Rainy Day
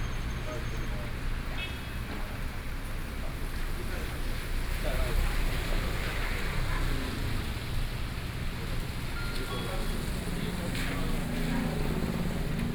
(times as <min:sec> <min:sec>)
0:04.6 0:12.7